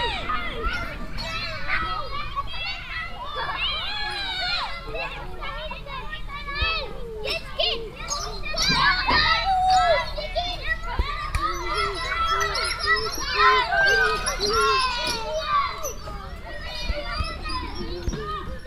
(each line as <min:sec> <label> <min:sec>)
0:00.0 group of kids either playing ball or climbing 0:18.6